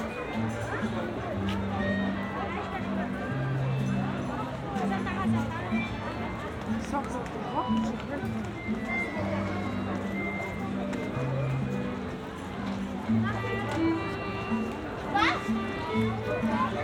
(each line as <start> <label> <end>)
0.0 people of all ages 16.8